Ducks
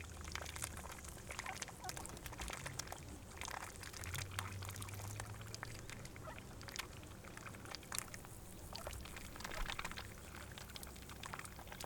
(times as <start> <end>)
0.8 2.8, 5.7 6.8, 8.7 11.8